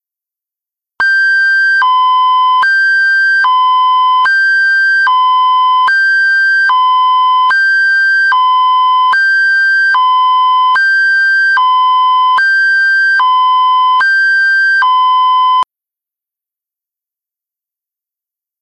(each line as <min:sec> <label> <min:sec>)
0:01.2 siren sound 0:15.6